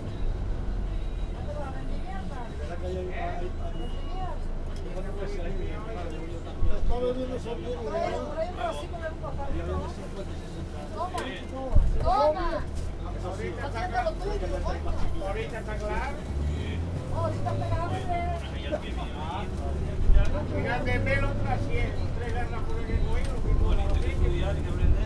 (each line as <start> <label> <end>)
0.0 bus traveling into the Anaga Mountains 25.0
0.0 passengers and the driver got into a very intense conversation 25.0